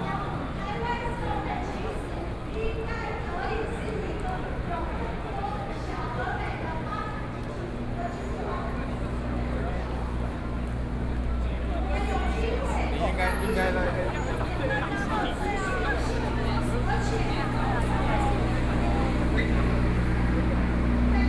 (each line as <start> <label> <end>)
0.0 People and students 21.2
0.0 Walking through the site in protest 21.2
8.6 Traffic Sound 21.2